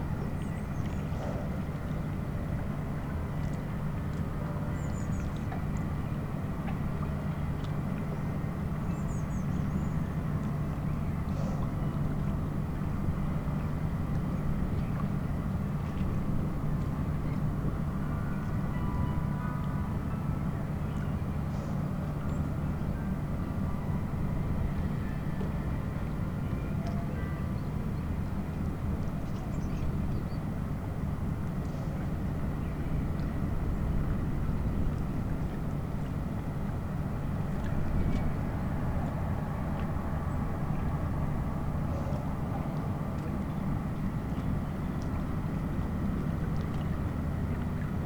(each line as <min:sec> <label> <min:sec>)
0:30.8 lapping waves 0:48.0